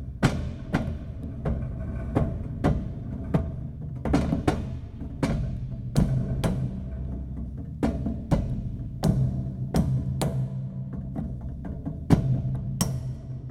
0.0s Steel door percussion 10.1s

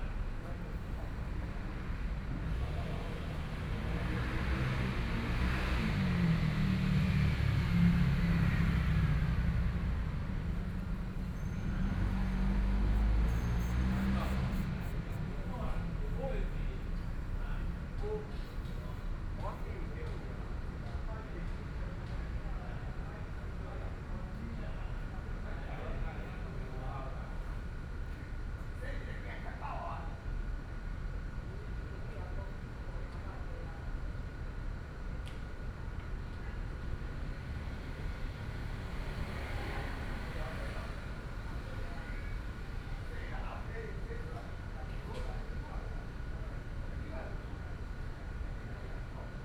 0.1s Traffic Sound 20.9s
36.6s Traffic Sound 44.7s

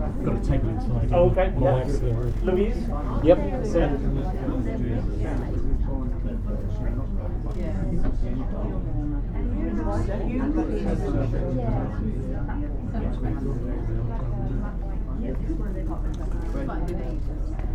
0.0s Busy Cafe 17.7s

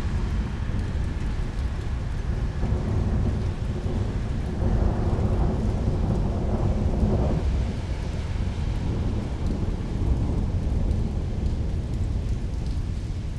0.0s Rain 13.3s
0.0s Rolling Thunder 13.3s

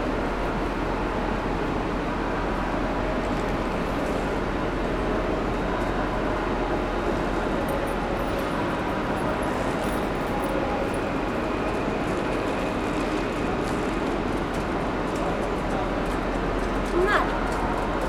0.0s train is leaving 18.0s

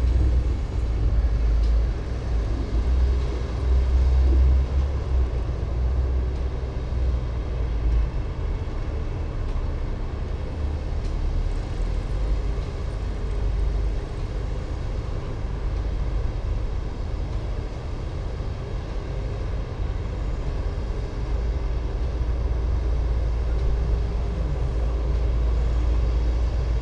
0.0s bulldozers 26.8s
0.0s excavators 26.8s
0.0s trucks during earthwork operations 26.8s

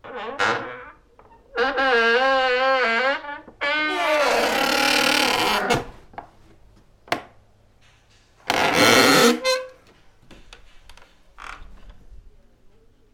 0.0s Loud and awesome door squeak 6.0s
8.5s Loud and awesome door squeak 9.8s

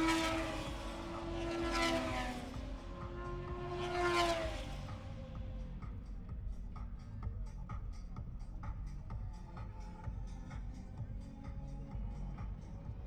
0.0s motorcycle grand prix 13.0s

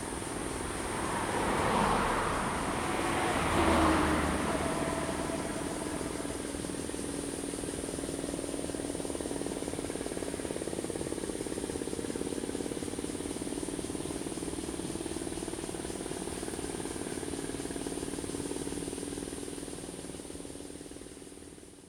0.0s Traffic Sound 8.8s
0.0s Cicadas sound 21.8s

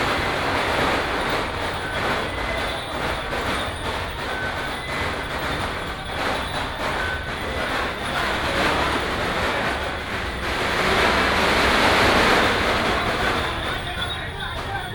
0.0s Din Tao 14.9s

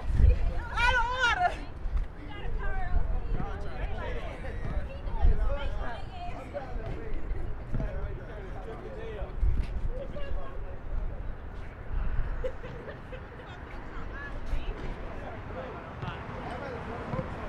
7.6s Basketball 8.2s
17.1s Basketball 17.4s

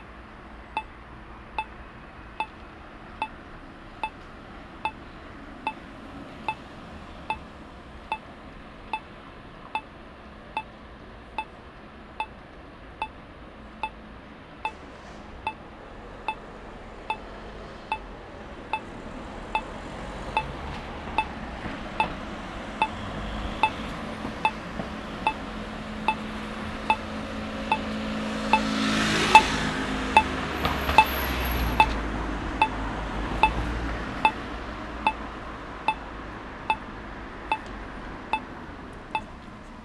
18.7s red light regulates the traffic for blind people 36.1s

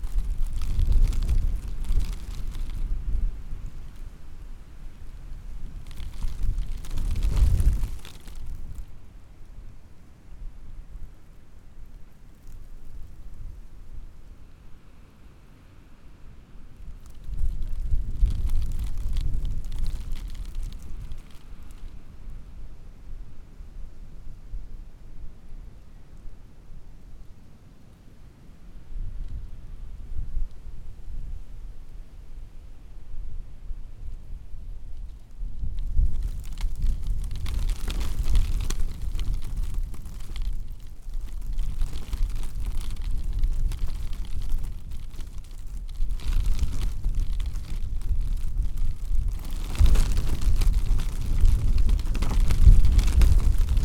0.0s security tape rustling on a wind 15.0s
16.3s security tape rustling on a wind 53.8s

